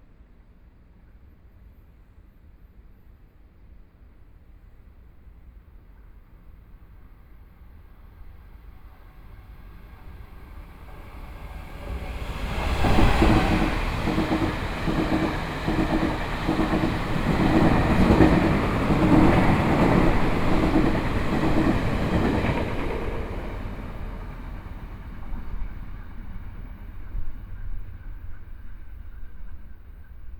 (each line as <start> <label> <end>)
7.8 Train traveling through 30.3